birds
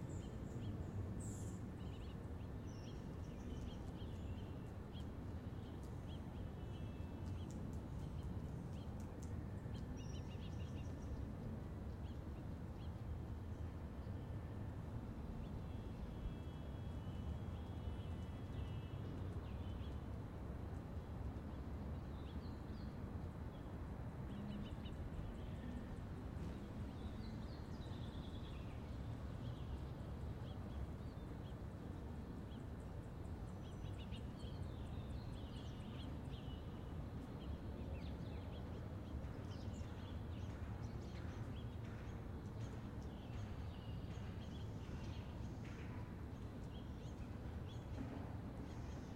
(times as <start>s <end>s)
24.3s 49.1s